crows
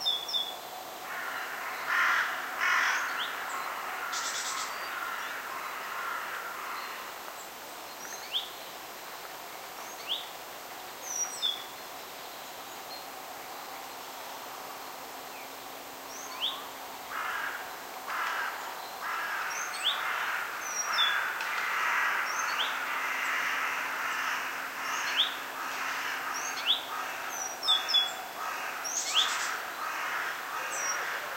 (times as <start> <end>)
1.0 7.2, 17.1 31.3